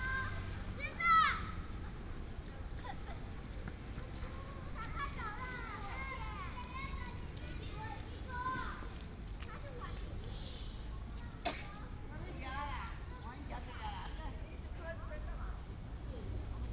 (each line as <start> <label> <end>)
0.0 Child 1.7
4.8 Child 12.0